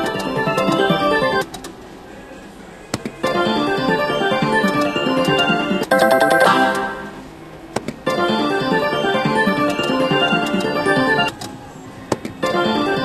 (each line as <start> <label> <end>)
0.0 slot machine noises 1.5
0.0 background casino music 1.6
3.2 slot machine noises 7.3
3.2 background casino music 11.4
3.9 Wheel of fortune bell 7.1
8.0 slot machine noises 11.4
12.4 background casino music 13.0
12.4 slot machine noises 13.0